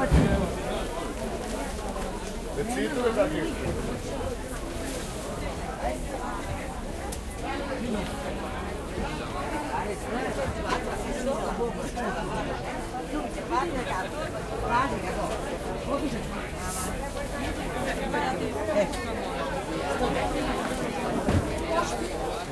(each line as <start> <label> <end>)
0.0 people talking 22.5